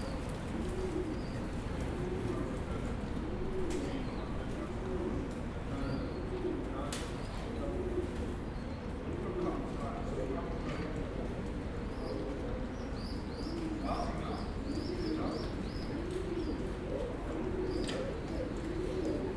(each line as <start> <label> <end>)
0.0 baby pigeons 19.3
0.0 distant chatting 19.3